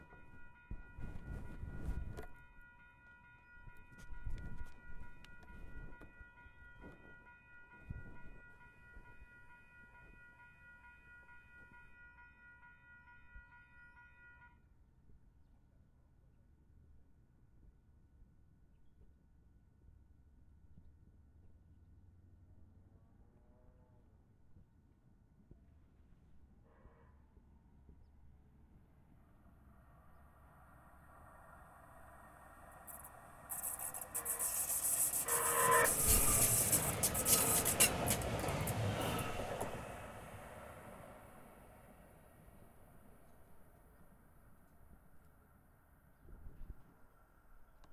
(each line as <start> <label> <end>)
0.0 Train 16.8
28.6 Train 45.8